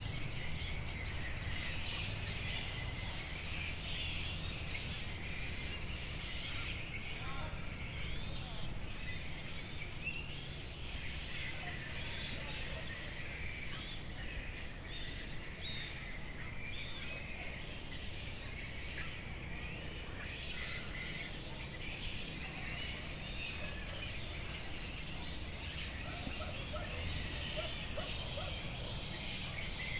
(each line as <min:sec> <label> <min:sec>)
0:00.0 noise and hum from the town 0:29.9
0:00.1 flying foxes were screaming 0:29.9